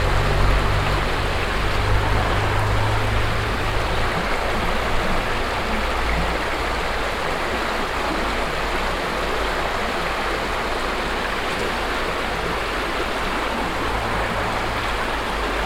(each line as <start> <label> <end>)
0.0 peaceful floating water 15.6